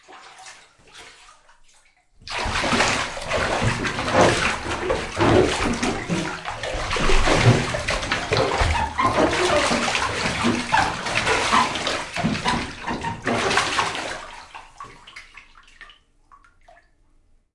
water splashes 0:00.0 - 0:17.0
bathtub feet squeek 0:02.8 - 0:14.2

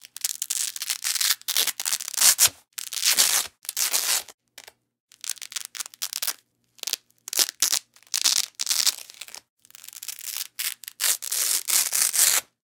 velcro 0:00.0 - 0:04.4
velcro 0:05.1 - 0:12.6

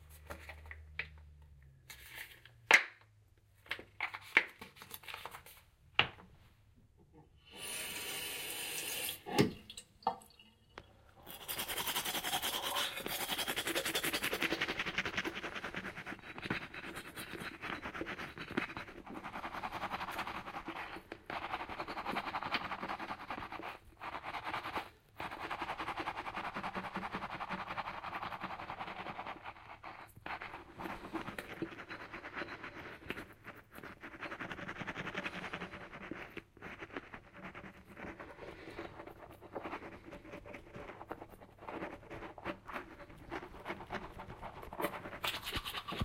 Tooth brushing 0:11.2 - 0:46.0

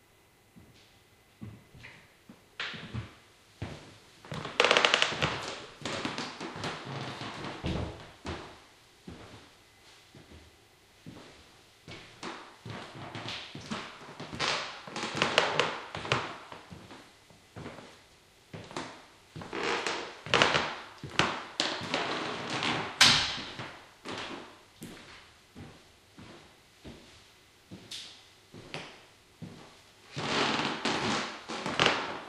creaky floor 0:01.4 - 0:09.5
creaky floor 0:11.1 - 0:17.0
creaky floor 0:17.6 - 0:18.0
creaky floor 0:18.6 - 0:27.1
creaky floor 0:28.6 - 0:32.2

